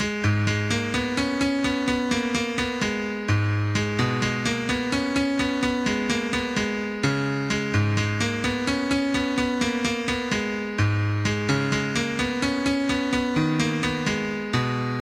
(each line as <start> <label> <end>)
0.0 acoustic piano 15.0